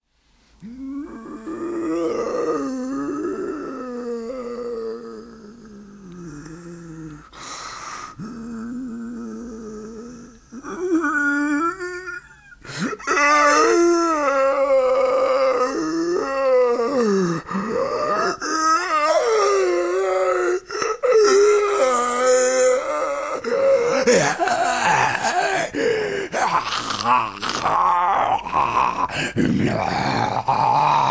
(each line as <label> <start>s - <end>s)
classic Zombie 21.3s - 31.1s